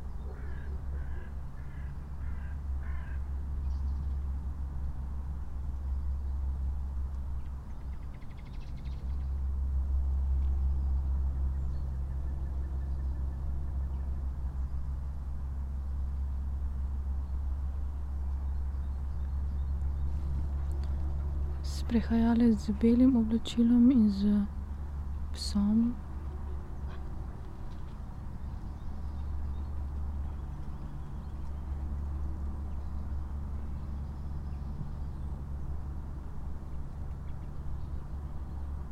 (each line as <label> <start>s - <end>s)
spoken words 21.7s - 24.5s
spoken words 25.4s - 26.0s